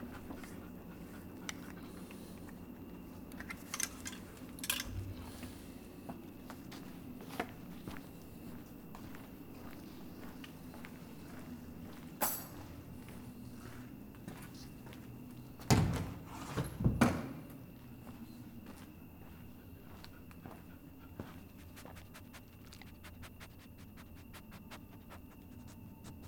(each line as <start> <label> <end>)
6.0 walking the dog 15.4
17.7 walking the dog 26.2